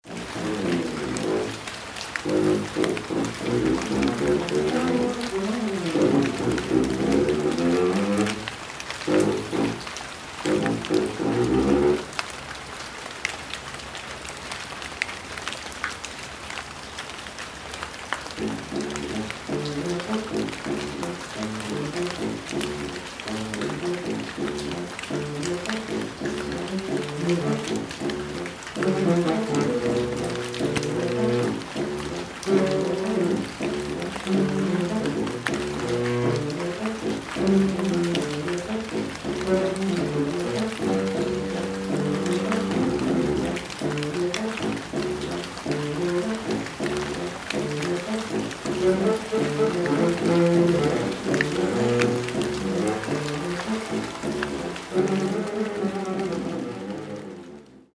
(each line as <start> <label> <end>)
0.0 saxophone rehearsal 12.1
0.0 rain on leaves 57.9
18.4 saxophone rehearsal 57.9